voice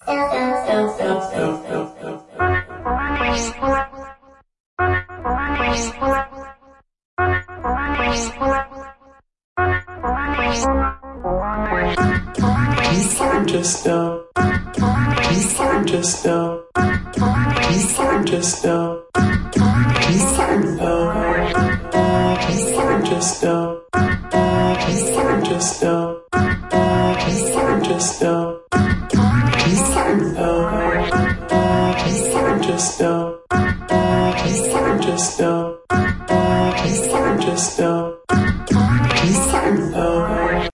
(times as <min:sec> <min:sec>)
0:00.0 0:02.2, 0:12.4 0:24.1, 0:24.7 0:26.5, 0:27.1 0:40.7